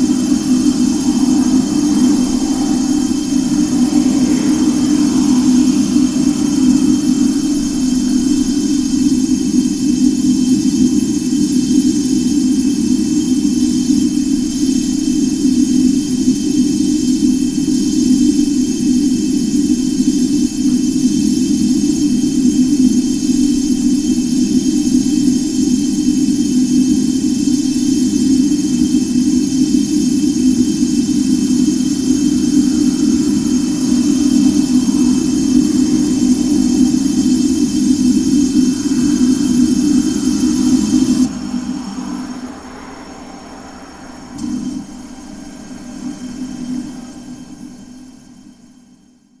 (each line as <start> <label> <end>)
0.0 background traffic sounds 10.8
0.0 humming gasbox 18.6
28.0 humming gasbox 48.8
30.6 background traffic sounds 48.8